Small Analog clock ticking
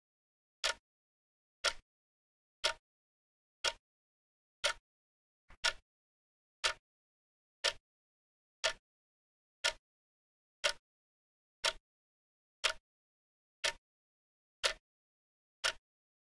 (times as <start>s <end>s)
0.6s 0.8s, 1.6s 1.8s, 2.6s 2.8s, 4.6s 4.8s, 5.6s 5.8s, 6.6s 6.8s, 7.6s 7.8s, 8.6s 8.8s, 9.6s 9.8s, 10.6s 10.8s, 11.6s 11.8s, 12.6s 12.8s, 13.6s 13.8s, 14.6s 14.8s, 15.6s 15.8s